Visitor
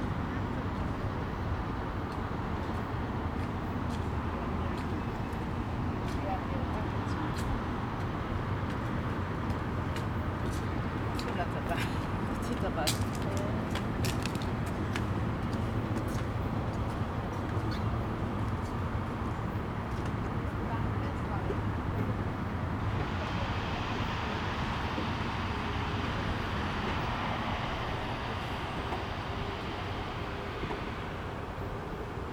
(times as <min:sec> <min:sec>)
0:10.0 0:32.3